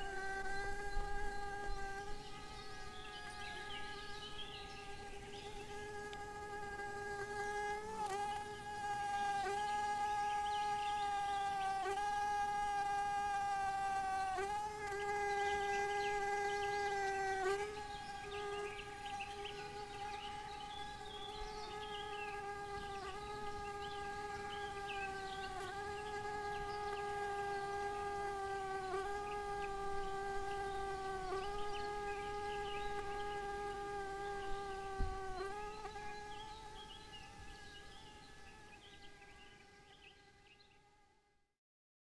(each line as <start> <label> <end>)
0.0 wild bees 41.5